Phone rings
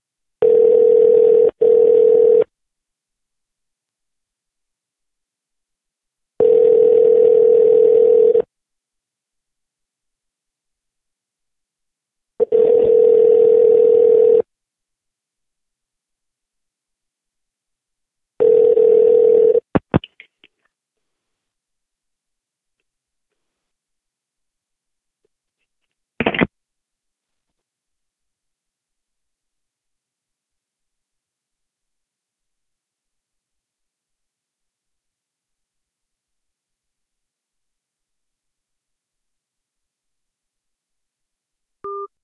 0.4s 2.5s, 6.4s 8.5s, 12.4s 14.5s, 18.4s 19.6s

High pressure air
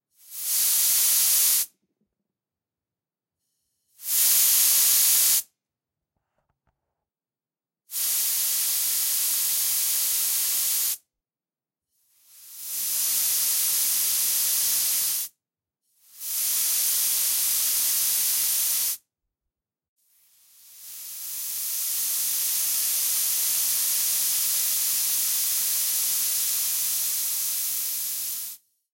0.1s 1.7s, 3.4s 5.5s, 7.9s 11.0s, 12.1s 15.3s, 16.1s 19.0s, 20.2s 28.6s

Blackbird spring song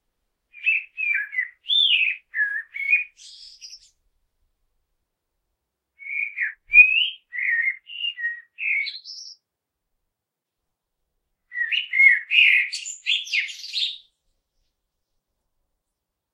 0.5s 4.0s, 6.0s 9.5s, 11.5s 14.2s

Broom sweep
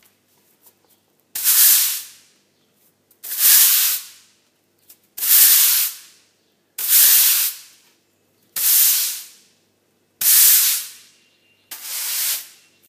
1.4s 2.2s, 3.2s 4.2s, 5.2s 6.1s, 6.8s 7.7s, 8.6s 9.4s, 10.2s 11.0s, 11.7s 12.6s

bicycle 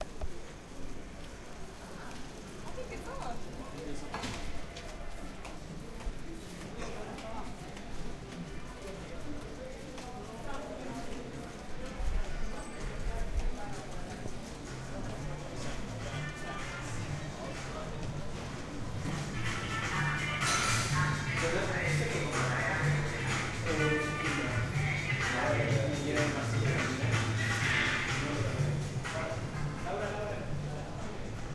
0.0s 19.4s

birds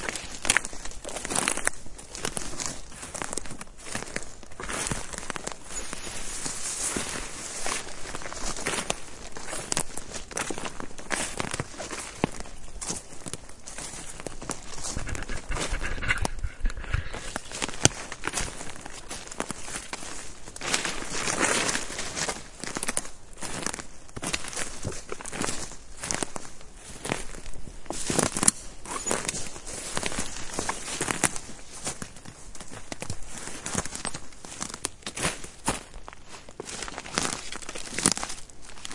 11.6s 19.9s, 28.4s 31.8s

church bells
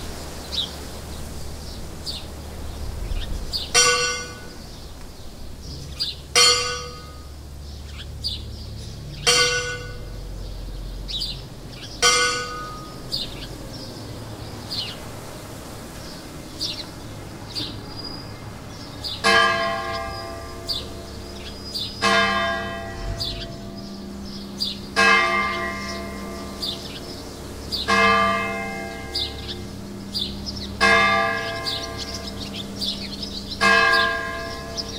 3.8s 4.6s, 6.3s 7.4s, 9.2s 10.4s, 12.0s 13.4s, 19.1s 34.9s

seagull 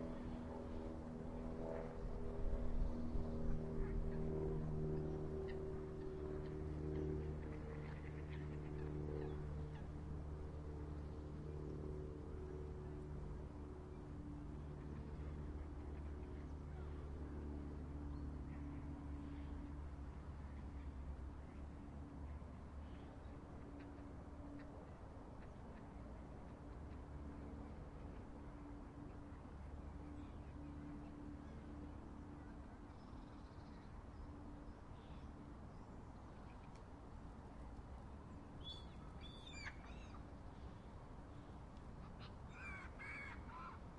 42.0s 43.8s

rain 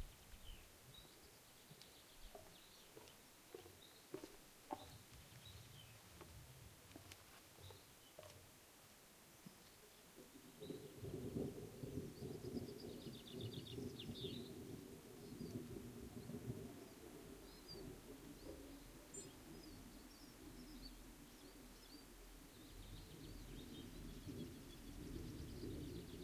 5.4s 26.2s

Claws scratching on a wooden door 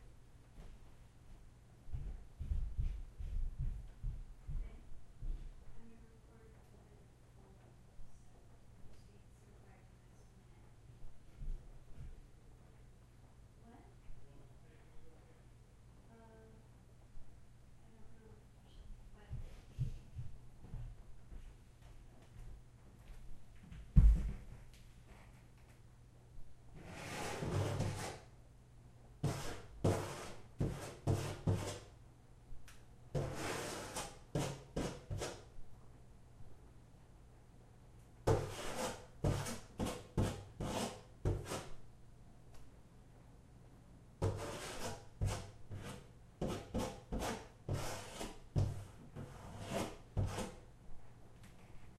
26.8s 28.3s, 38.3s 41.7s

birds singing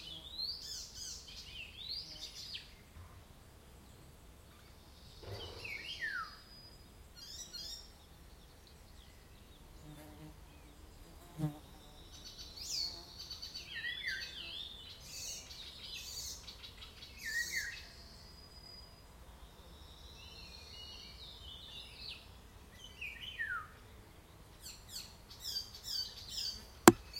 4.6s 9.9s

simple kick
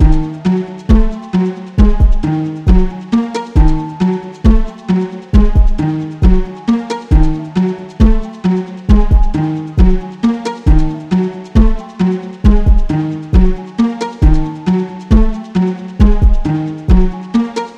5.4s 6.4s

